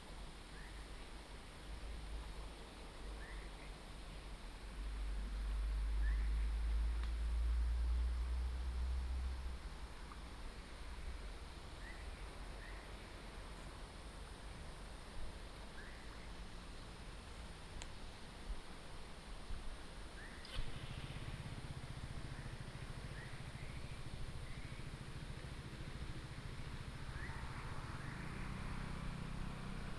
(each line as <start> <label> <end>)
0.0 stream 29.9
20.4 Traffic sound 29.9